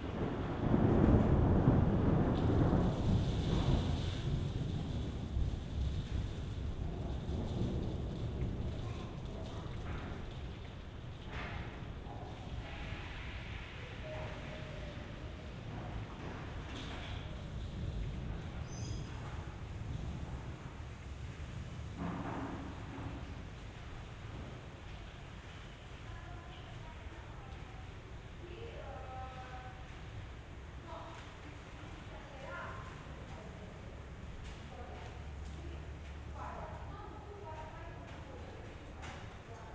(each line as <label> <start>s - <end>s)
thunder 0.0s - 26.0s
light rain 0.0s - 39.7s
voices 30.8s - 39.7s